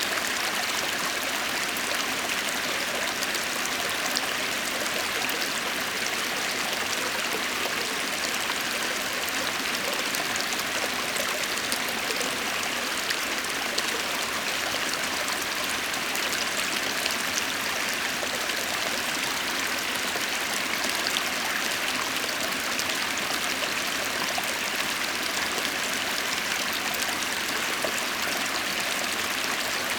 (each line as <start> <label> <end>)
0.0 gentle stream, softly babbling over smooth stones 29.9